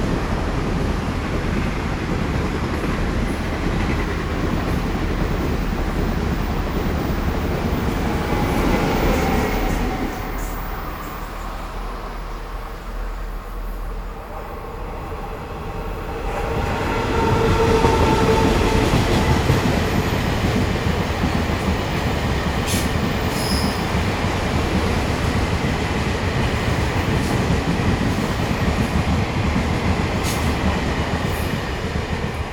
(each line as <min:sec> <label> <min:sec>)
0:00.0 Train traveling through 0:32.5